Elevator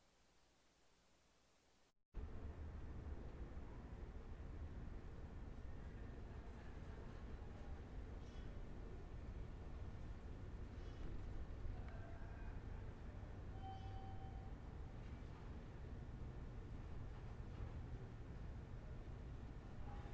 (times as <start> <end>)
10.7 20.1